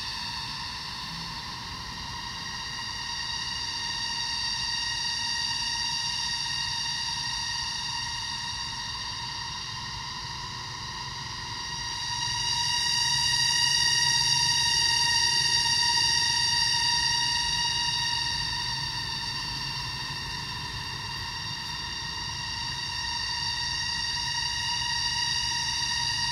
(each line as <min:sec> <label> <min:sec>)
0:00.0 Jungle cicada 0:26.3